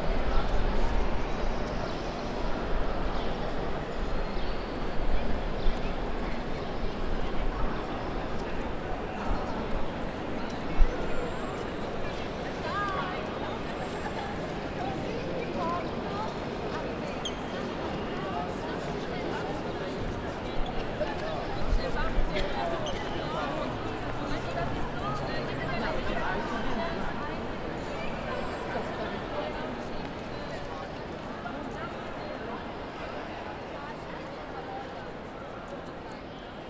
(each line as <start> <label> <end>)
0.0 tourists 36.6